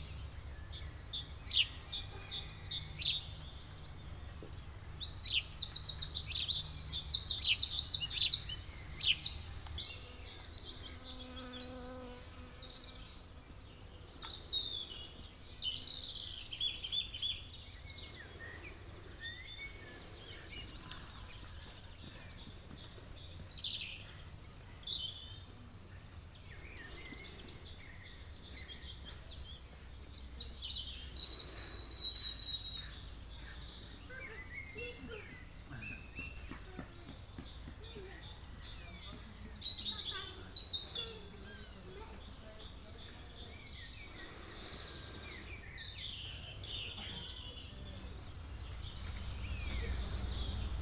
birds 0:00.0 - 0:50.8
bees 0:09.9 - 0:13.3
passengers waklking by in the distance 0:12.7 - 0:50.8

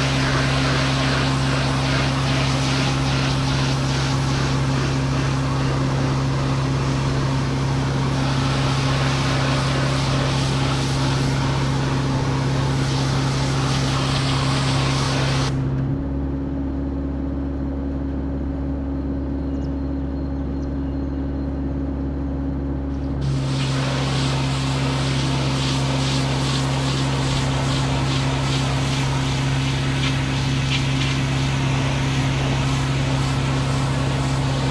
water pressure cleaner 0:00.0 - 0:15.6
water pressure cleaner 0:23.2 - 0:34.7

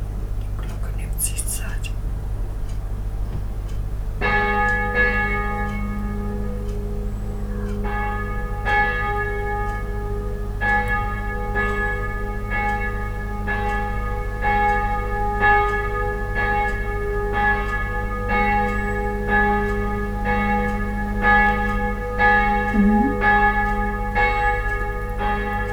Angelus 0:00.4 - 0:02.0
Angelus 0:22.7 - 0:23.4

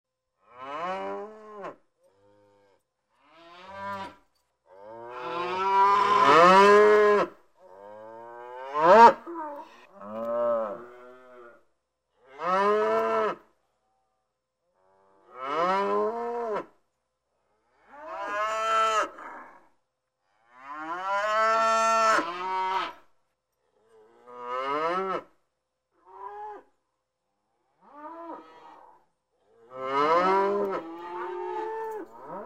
herd of cows 0:00.4 - 0:11.6
herd of cows 0:29.6 - 0:32.4

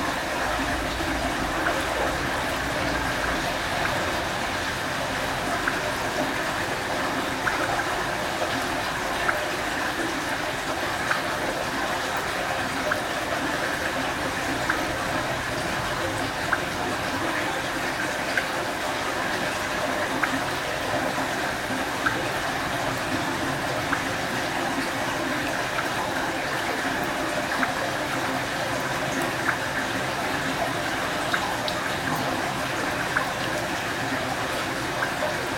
Rain 0:00.0 - 0:35.5

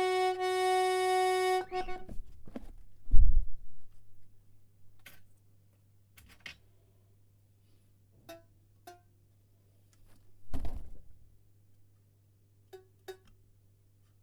tuning an accordion 0:00.0 - 0:02.2

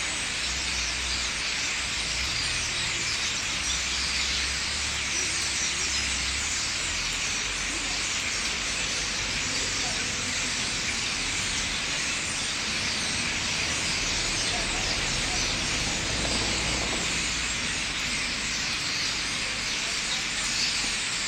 Thousands of starlings gathering in the trees 0:00.0 - 0:21.2

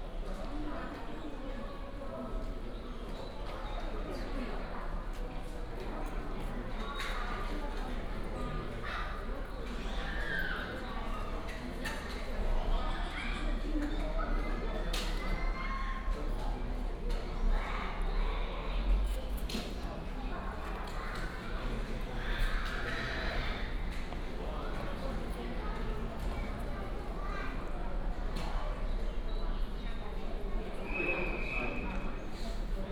Walk at the station 0:00.0 - 0:32.9

